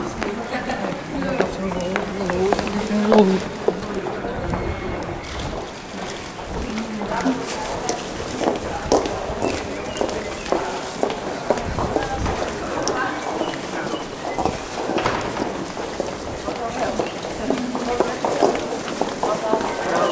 Walking through the city 0:00.0 - 0:20.1
chattering 0:00.0 - 0:20.1
birds 0:09.4 - 0:10.8

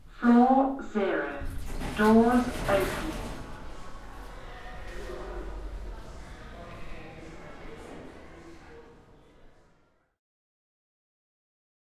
lift - doors opening 0:01.4 - 0:05.2

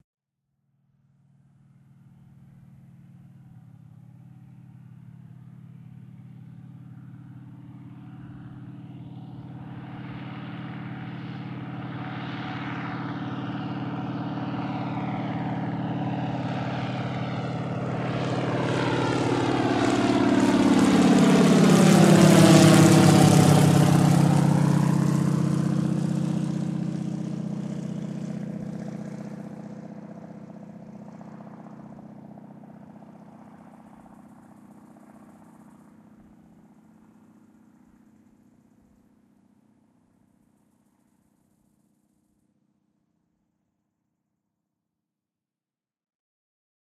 WILGA FLIGHT 0:01.7 - 0:41.8

